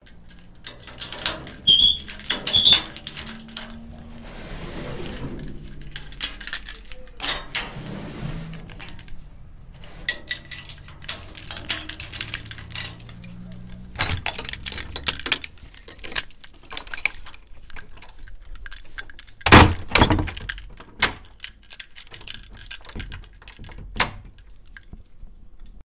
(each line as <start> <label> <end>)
0.1 Opening door 17.2
0.1 Opening of safety gate 17.2
19.5 Opening door 21.4